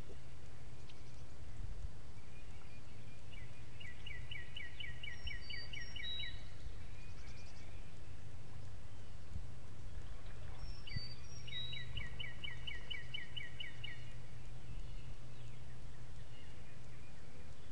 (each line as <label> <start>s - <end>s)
birds 0.0s - 17.7s